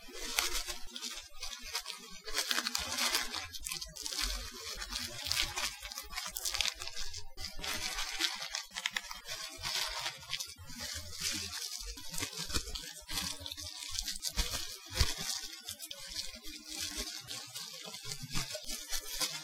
0.0s ruffling bubble wrap with no pops 19.4s

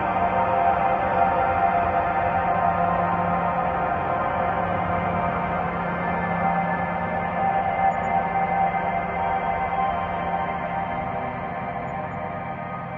0.0s slowly evolving dreamy ambient drone pad 12.9s

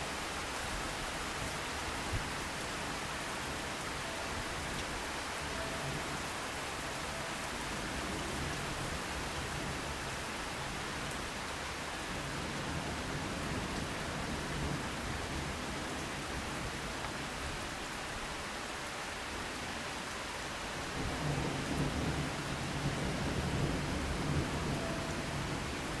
0.0s Rain 26.0s
20.9s occasional distant thunder 26.0s

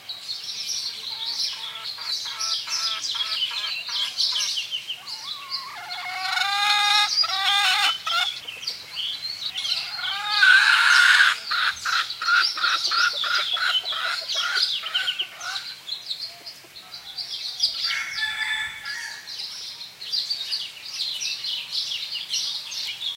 0.0s birds 23.1s
17.6s broken rooster 19.3s

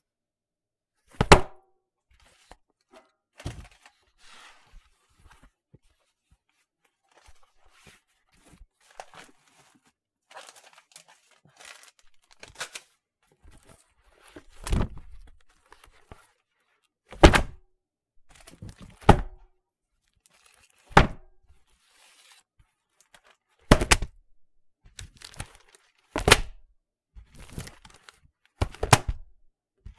1.2s dropping an office binder full of papers 1.5s
17.2s dropping an office binder full of papers 17.6s
19.1s dropping an office binder full of papers 19.4s
21.0s dropping an office binder full of papers 21.3s
23.7s dropping an office binder full of papers 24.1s
26.2s dropping an office binder full of papers 26.6s
28.6s dropping an office binder full of papers 29.3s

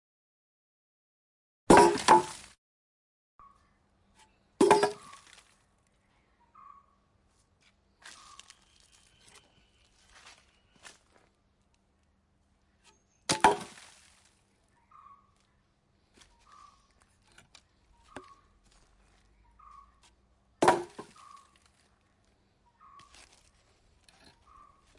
1.7s Stacking wood 2.6s
4.6s Stacking wood 5.4s
13.3s Stacking wood 13.9s
20.6s Stacking wood 21.4s

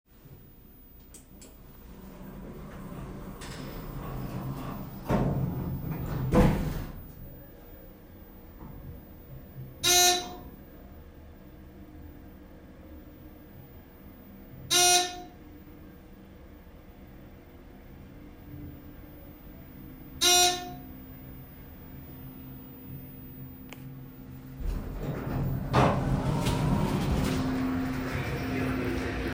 0.3s elevator moving 29.3s
1.1s doors closing 7.4s
1.5s doors opening on arrival to desired floor 7.1s
19.9s doors closing 21.0s
23.8s doors closing 29.3s
23.9s doors opening on arrival to desired floor 29.3s

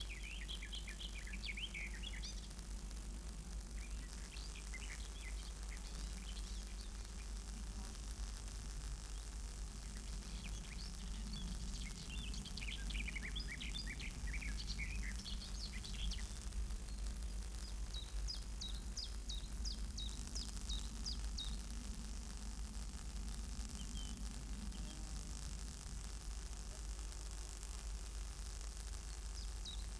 0.0s birds in the background 2.5s
0.0s Electric noise & hum of an overhead power line 29.9s
3.8s birds in the background 7.4s
9.1s birds in the background 21.6s
23.7s birds in the background 25.1s
29.0s birds in the background 29.9s

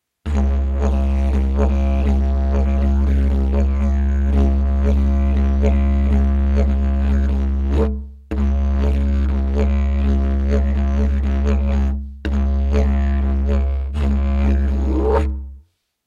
0.3s didgeridoo 15.6s

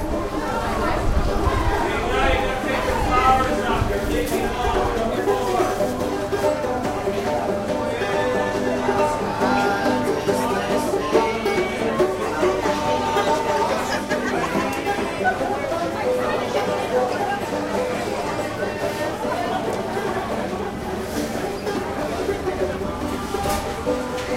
0.0s banjo 24.3s
0.0s people 24.3s

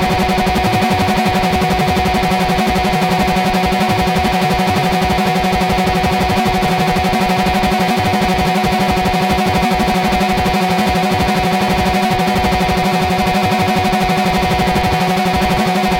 0.0s sub-oscillator seems to be playing a little crazzy sequence 15.9s

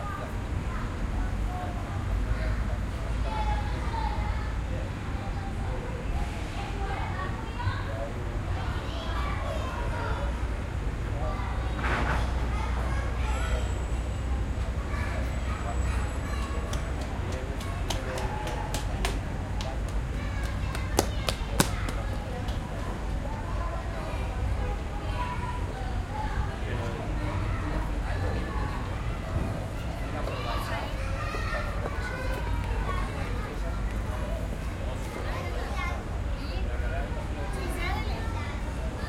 0.0s cars driving on the road 39.0s
0.0s children playing 39.0s
0.0s people talking 39.0s

